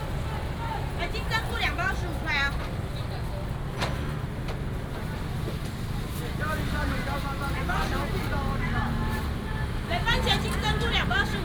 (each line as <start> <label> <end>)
0.0 traffic sound 11.4
0.0 voices of vendors selling 11.4